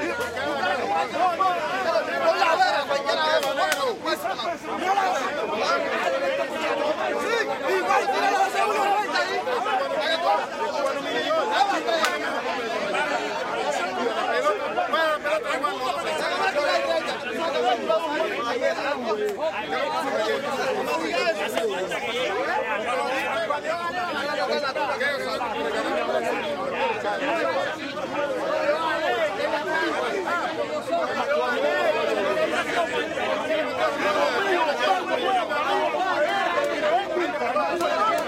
0.0s men shouting arguing 38.2s

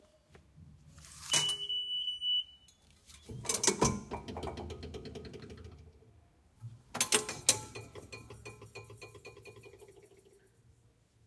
1.3s double beep 2.8s
3.2s turnstile 5.9s
7.0s turnstile 9.7s

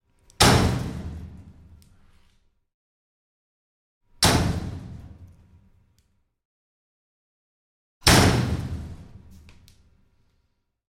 0.4s door metal locker or shed close hard slam rattle 1.2s
8.0s door metal locker or shed close hard slam rattle 8.8s

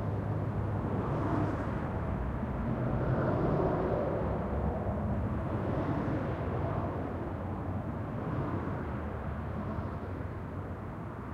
0.0s small aeroplane 11.3s

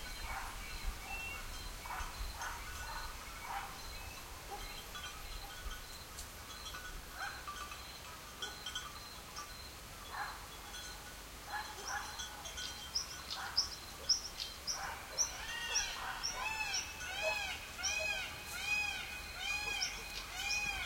0.0s distant dogs bark 5.8s
0.0s birds 20.8s
0.0s leafy wind through trees 20.8s
0.0s sheep bells tinkle 20.8s
0.0s crickets 20.8s
7.1s distant dogs bark 7.6s
8.4s distant dogs bark 8.8s
10.0s distant dogs bark 10.5s
11.4s distant dogs bark 12.7s
13.3s distant dogs bark 20.8s

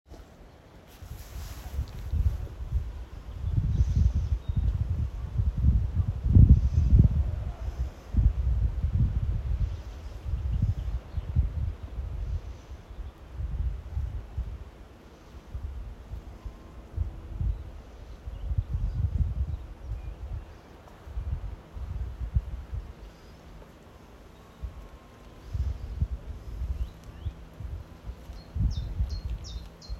0.0s wind 29.9s
22.7s Birds 29.9s

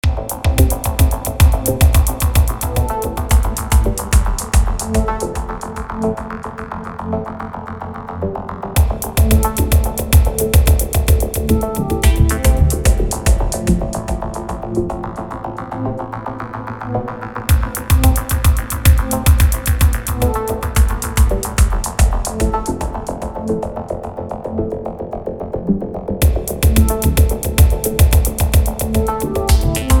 0.0s bass 30.0s
0.0s drum 6.0s
8.8s drum 14.7s
17.5s drum 23.4s
26.2s drum 30.0s

